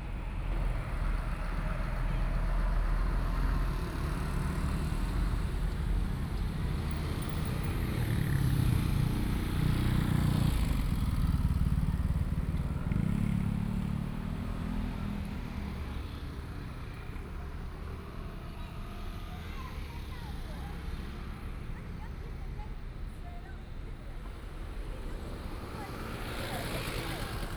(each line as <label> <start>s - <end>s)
Traffic Sound 0.0s - 27.5s
Trains traveling through 24.3s - 27.5s